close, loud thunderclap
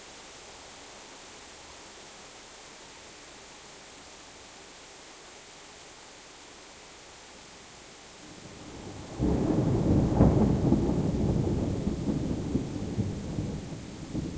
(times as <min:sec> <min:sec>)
0:08.4 0:14.3